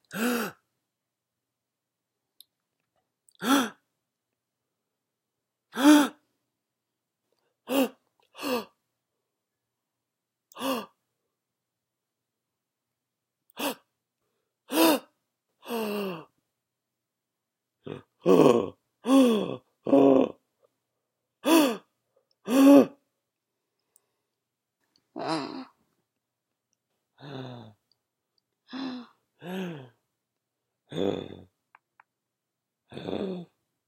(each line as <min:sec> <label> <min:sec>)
0:00.0 gasping noises 0:00.7
0:03.3 gasping noises 0:03.8
0:10.5 gasping noises 0:11.0
0:17.8 gasping noises 0:20.4
0:25.0 gasping noises 0:25.9
0:27.2 gasping noises 0:28.0
0:28.6 gasping noises 0:30.0
0:32.9 gasping noises 0:33.6